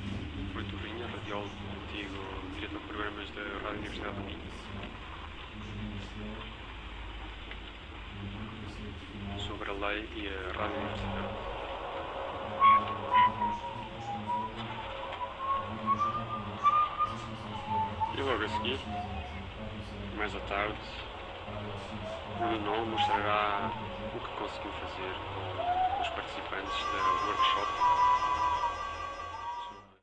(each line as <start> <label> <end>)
0.0 FM radio 6.7
8.0 FM radio 30.0